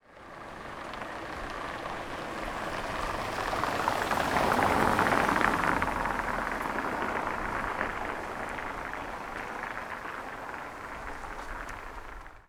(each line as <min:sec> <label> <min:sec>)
0:00.0 Car driving downhill on marble paved road 0:12.4